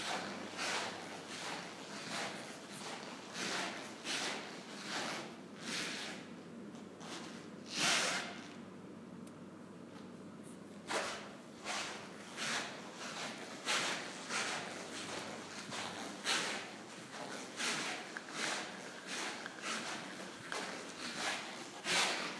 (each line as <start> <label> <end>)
0.0 Rubber shoes walking on marble floor 5.3
10.9 Rubber shoes walking on marble floor 22.3